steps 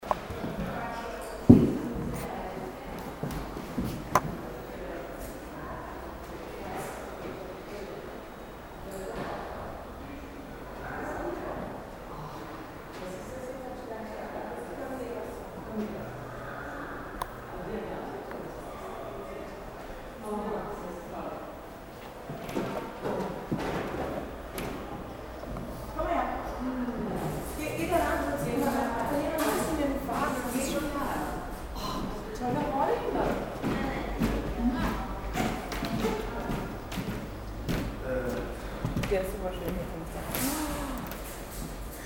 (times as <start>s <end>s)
0.1s 2.4s, 31.6s 42.0s